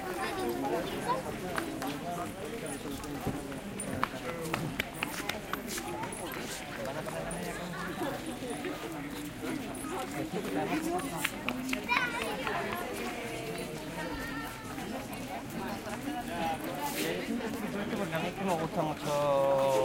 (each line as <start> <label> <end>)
0.0 noisy tourist crowd talks 19.8